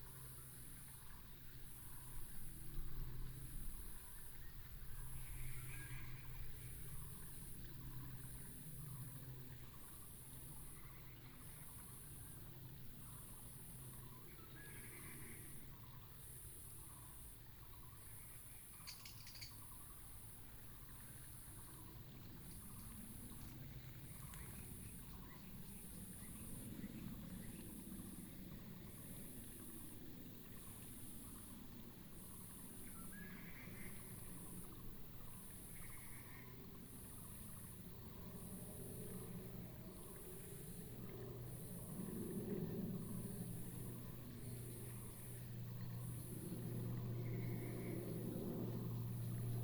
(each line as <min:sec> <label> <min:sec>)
0:18.8 Bird call 0:19.6